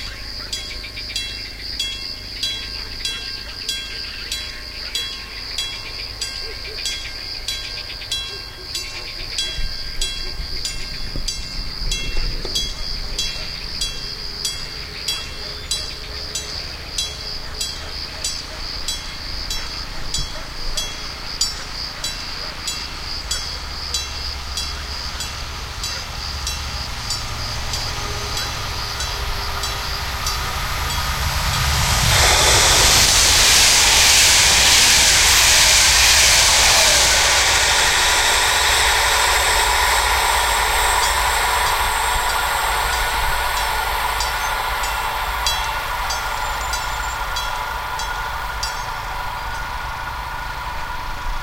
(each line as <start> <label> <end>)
0.0 frogs 33.1
0.0 crickets 51.4
0.0 passing trains 51.4
36.5 frogs 51.4